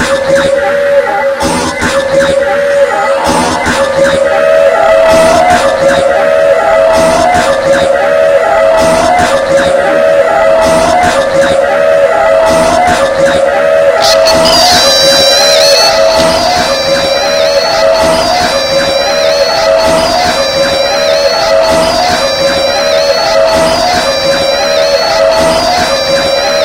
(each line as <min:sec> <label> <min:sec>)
0:14.0 my voice being effected/looped by the pedals 0:19.0